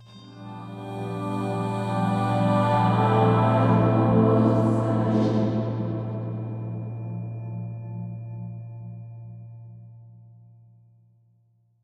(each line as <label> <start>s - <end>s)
Angelic voices 0.0s - 7.3s